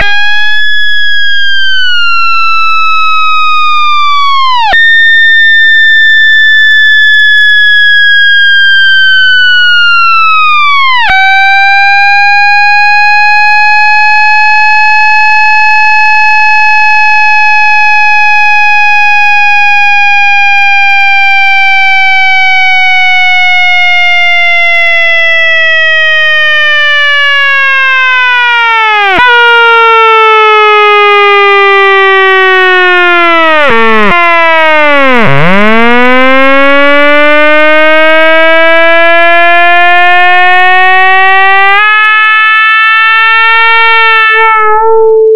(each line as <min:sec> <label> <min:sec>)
0:43.1 singing synth line with some chaotic jumps 0:45.3